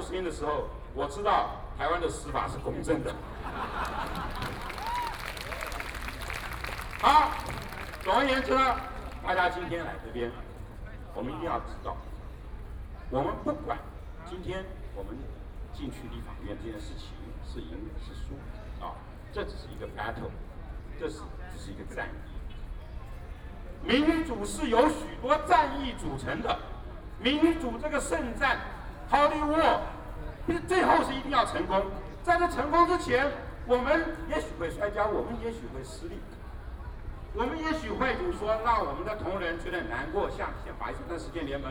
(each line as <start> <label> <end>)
0.0 Speech 3.4
7.0 Speech 41.7